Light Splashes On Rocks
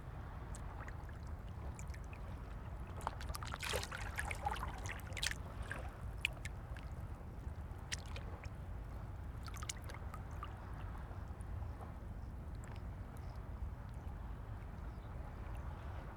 3.0 6.9

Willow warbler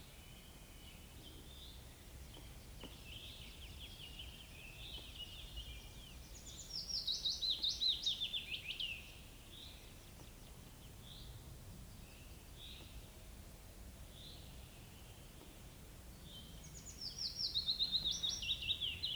16.1 19.1

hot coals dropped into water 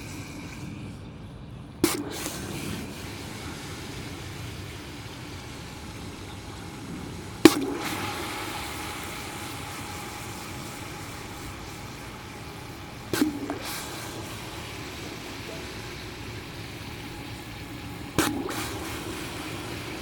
7.4 9.0, 18.2 19.5

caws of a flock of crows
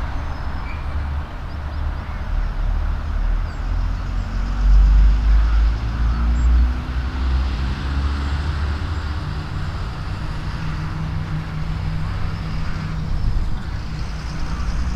5.1 6.6

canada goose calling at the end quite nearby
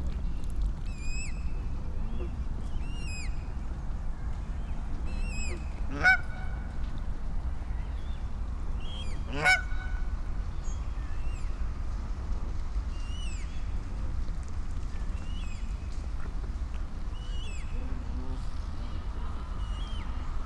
5.2 6.8, 9.3 10.1

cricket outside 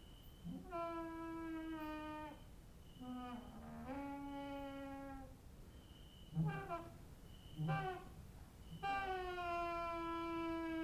5.7 6.4

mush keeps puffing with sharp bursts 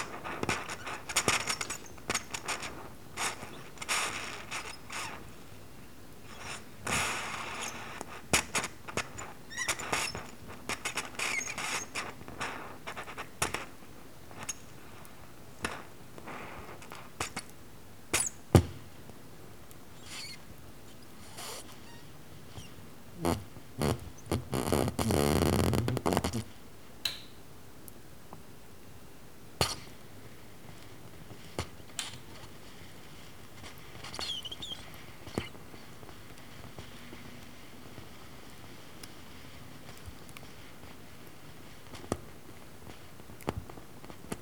0.0 5.4, 6.3 14.6

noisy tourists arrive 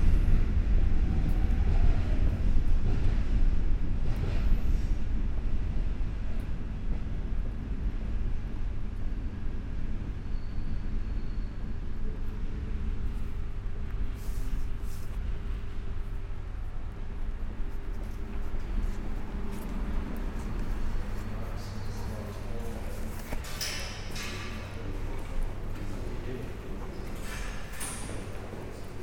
14.1 29.0

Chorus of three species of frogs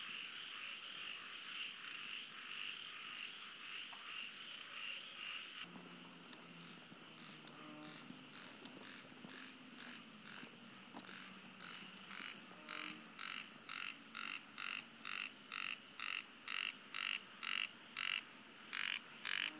6.6 19.5

